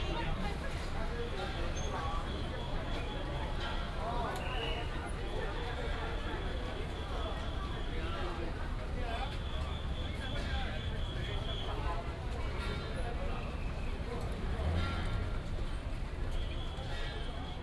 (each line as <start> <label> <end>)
12.2 Traffic sound 17.6